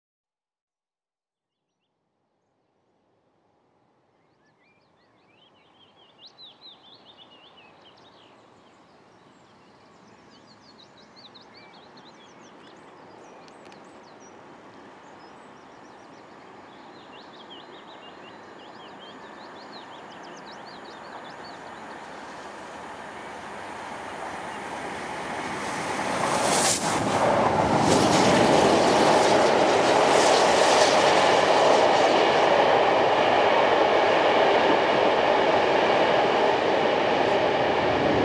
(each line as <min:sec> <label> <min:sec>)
0:16.5 fast steam train passing under a footbridge 0:38.2